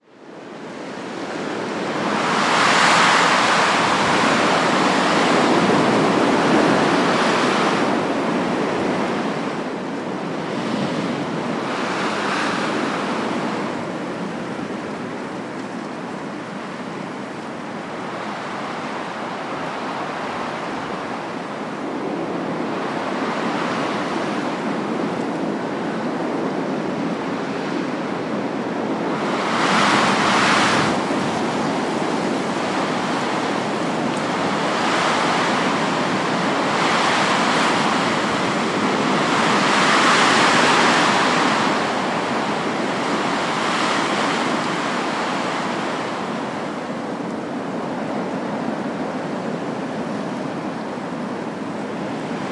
Cold winter wind blowing 0.0 - 52.5

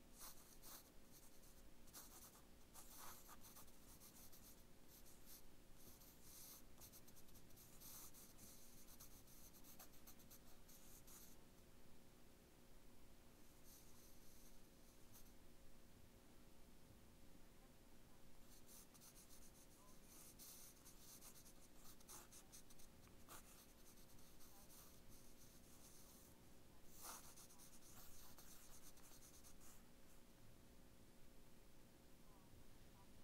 pencil sketches on paper 0.2 - 11.4
pencil sketches on paper 18.5 - 29.8

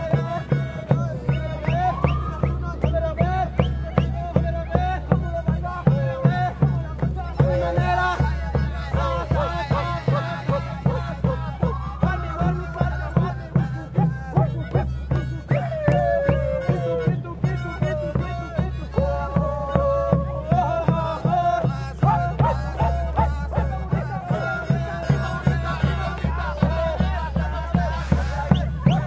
Indian chants 0.0 - 29.0
people 0.0 - 29.0

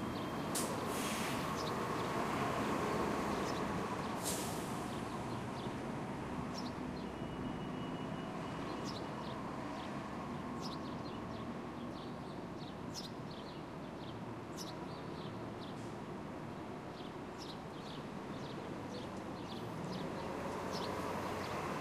buses leaving station 0.0 - 11.4
air brakes 0.6 - 1.5
air brakes 4.2 - 4.8
buses leaving station 18.3 - 21.8

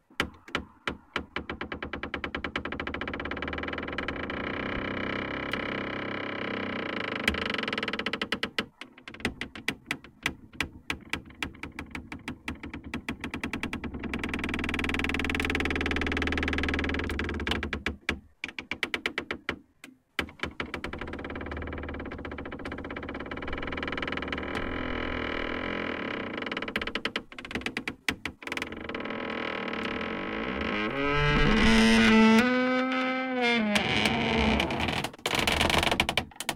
wind 0.0 - 36.5
Creaky door 0.2 - 9.9
Creaky door 10.9 - 18.2
Creaky door 20.2 - 36.5

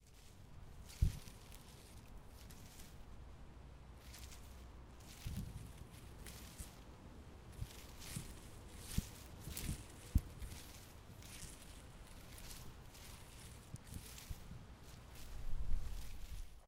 movement of the leafs 0.0 - 16.6

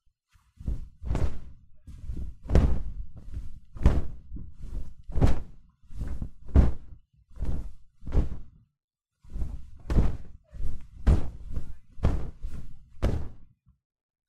huge flapping wings 0.5 - 8.6
huge flapping wings 9.2 - 13.5

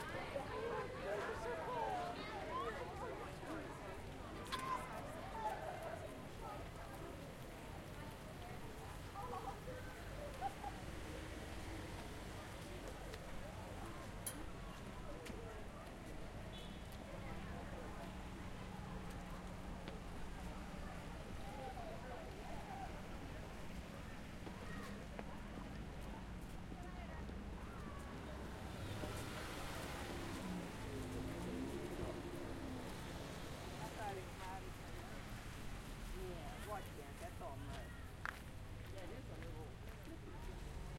People talking 0.0 - 16.3
People talking 17.0 - 35.3
People talking 36.0 - 40.9

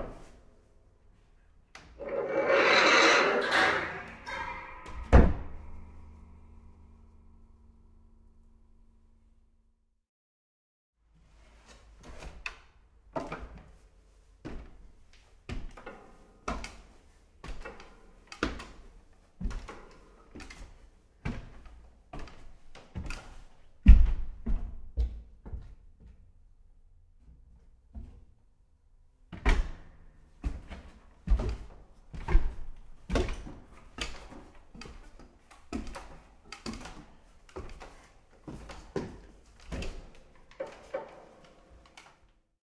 opening and closing a loft door 2.0 - 6.2
iron spring 2.0 - 7.0
opening and closing a loft door 39.5 - 42.2

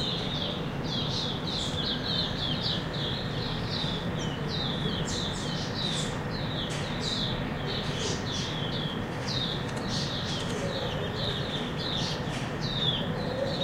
distant noise from an aircon unit 0.0 - 13.6
garden birds 0.0 - 13.6
traffic sounds from the city and the street 0.0 - 13.6

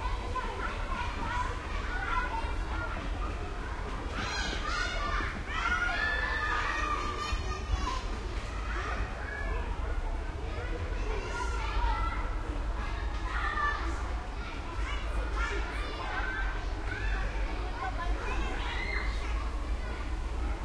children are playing in the school yard 0.0 - 20.6

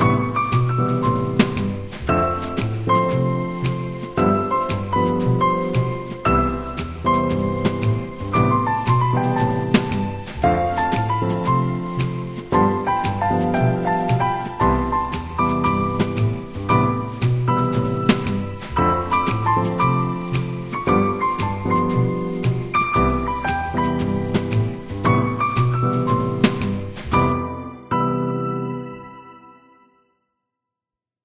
Brush Drums 0.0 - 27.4
Double Bass 0.0 - 27.6
Jazz Piano Medley 0.0 - 29.3

